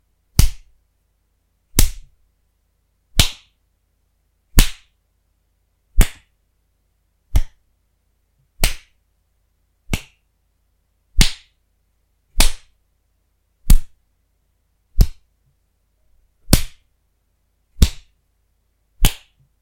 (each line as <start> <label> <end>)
7.3 punches 7.6
15.0 punches 15.2
17.8 punches 18.1